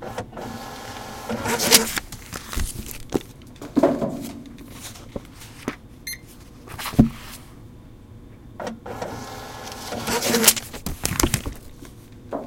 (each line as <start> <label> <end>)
0.4 library books being checked-in 7.5
0.5 hold receipt being printed 3.2
0.5 books being de-sensitized 3.5
9.0 library books being checked-in 12.1
9.0 hold receipt being printed 11.8
9.1 books being de-sensitized 12.0